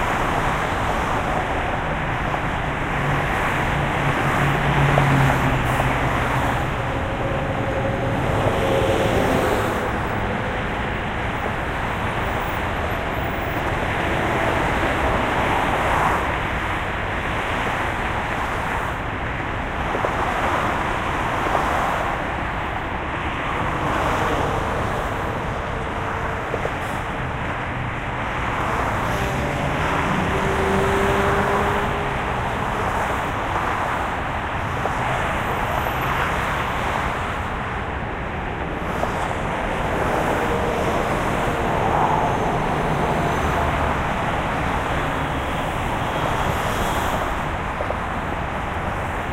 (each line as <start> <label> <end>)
0.0 traffic 49.3
0.0 trucks 49.3